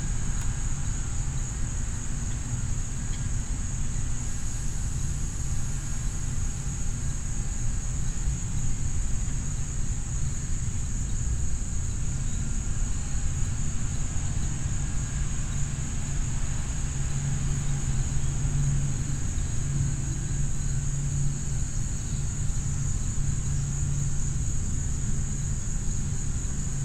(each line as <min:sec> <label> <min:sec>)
0:00.0 Insects 0:26.8
0:00.0 droning of a leaf blower 0:26.8
0:11.3 planes passing overhead 0:24.7